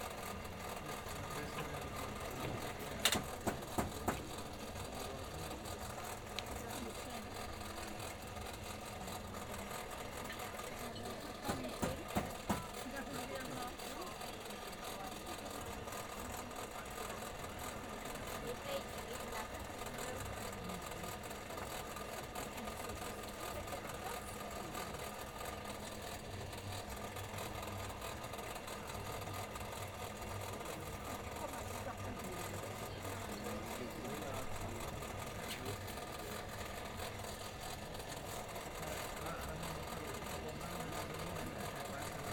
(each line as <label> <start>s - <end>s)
Visitors 0.0s - 42.3s
blacksmith working with traditional tools 2.4s - 4.7s
blacksmith working with traditional tools 11.4s - 12.9s